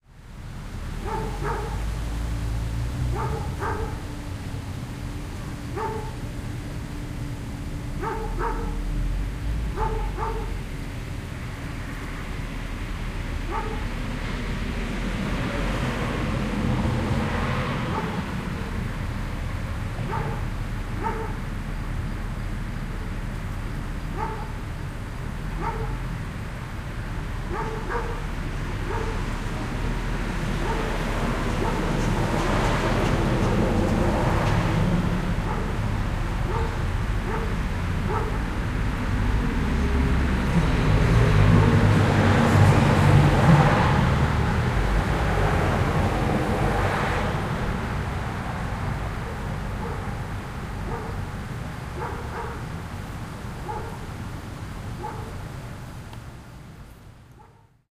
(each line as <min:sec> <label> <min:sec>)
0:00.0 Traffic passes 0:57.9
0:00.1 car with booming bass passes 0:55.5
0:01.0 Dog barking 0:01.9
0:03.1 Dog barking 0:04.1
0:05.7 Dog barking 0:06.2
0:08.0 Dog barking 0:08.8
0:09.7 Dog barking 0:10.6
0:13.5 Dog barking 0:13.9
0:17.8 Dog barking 0:18.7
0:20.0 Dog barking 0:21.4
0:24.1 Dog barking 0:24.6
0:25.6 Dog barking 0:26.0
0:27.5 Dog barking 0:29.2
0:30.6 Dog barking 0:31.0
0:31.6 Dog barking 0:31.9
0:35.4 Dog barking 0:35.8
0:36.4 Dog barking 0:38.4
0:41.5 Dog barking 0:41.8
0:49.2 Dog barking 0:50.2
0:50.8 Dog barking 0:51.3
0:51.9 Dog barking 0:52.7
0:53.6 Dog barking 0:54.0
0:55.0 Dog barking 0:55.4
0:57.4 Dog barking 0:57.7